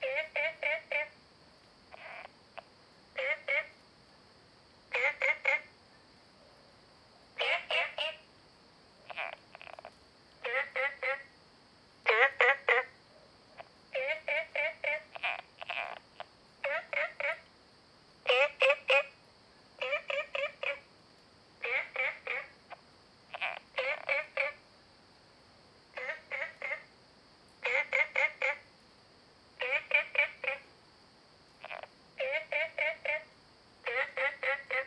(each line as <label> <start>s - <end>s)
Frogs chirping 0.0s - 1.2s
Frogs chirping 1.8s - 3.8s
Frogs chirping 4.9s - 6.1s
Frogs chirping 7.4s - 8.3s
Frogs chirping 9.0s - 11.4s
Frogs chirping 12.0s - 13.0s
Frogs chirping 13.6s - 17.5s
Frogs chirping 18.2s - 21.0s
Frogs chirping 21.6s - 24.7s
Frogs chirping 25.9s - 27.0s
Frogs chirping 27.6s - 28.7s
Frogs chirping 29.6s - 30.7s
Frogs chirping 31.5s - 34.8s